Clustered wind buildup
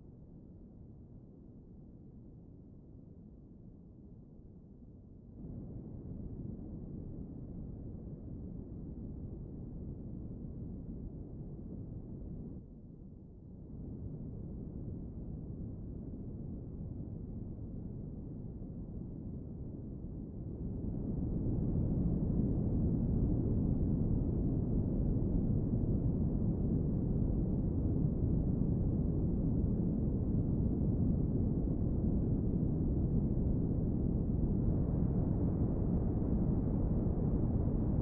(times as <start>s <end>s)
20.6s 38.0s